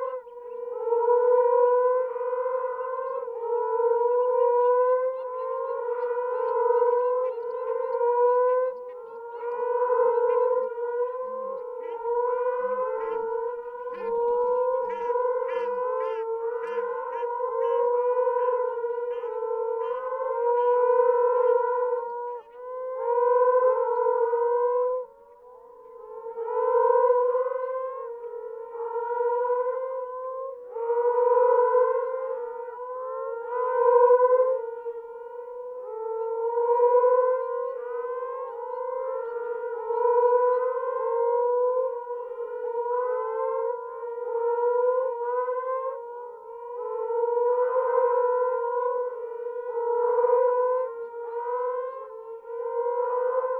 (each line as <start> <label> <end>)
0.0 Moaning Frogs calling from burrows in the ground 53.5
8.8 Shelducks calling from nearby lake 21.6